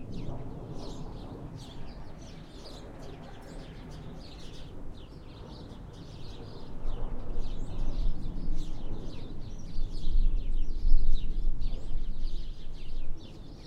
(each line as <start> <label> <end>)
0.0 birds 13.6
0.0 wind distorts the recording 13.6